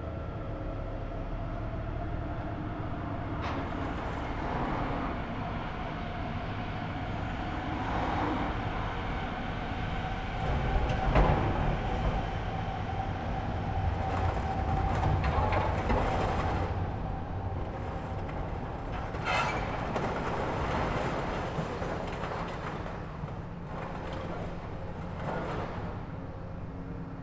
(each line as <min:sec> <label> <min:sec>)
0:10.4 excavator with clamshell attachment sorting scrap 0:27.1